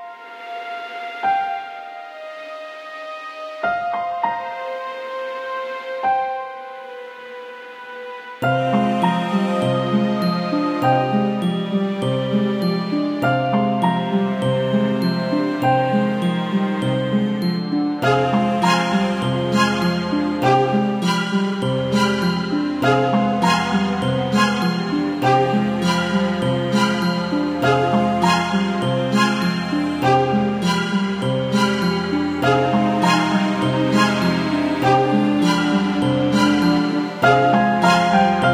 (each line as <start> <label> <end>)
0.0 piano 38.5
0.0 viola 38.5